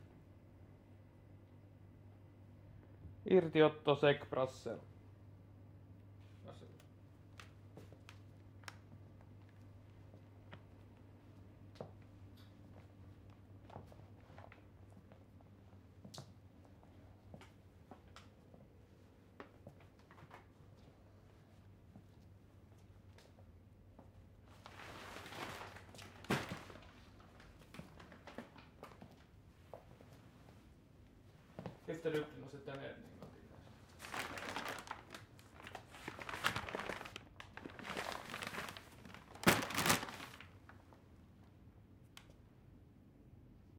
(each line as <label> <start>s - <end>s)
paperbag 24.6s - 28.6s
paperbag 34.0s - 40.7s